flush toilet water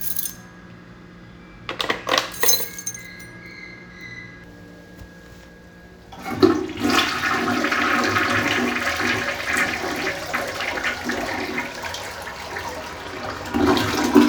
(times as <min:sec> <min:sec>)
0:06.1 0:14.2